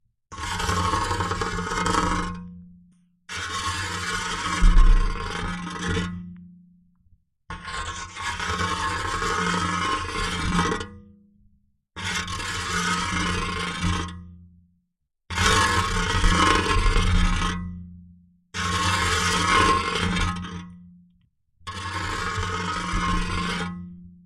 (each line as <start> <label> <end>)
4.4 Metallic scraing sound 5.6